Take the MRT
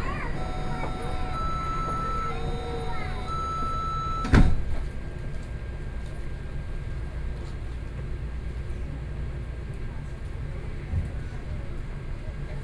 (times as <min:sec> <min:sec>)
0:00.0 0:05.2